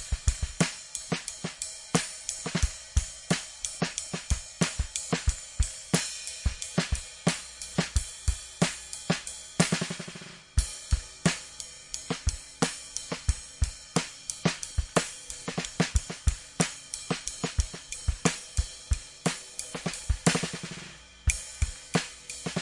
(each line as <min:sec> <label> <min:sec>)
0:00.0 drum 0:22.6